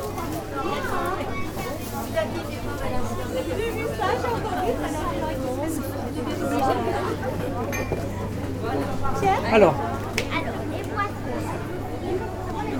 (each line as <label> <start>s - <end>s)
vistors passing by on the narrow road 0.0s - 12.7s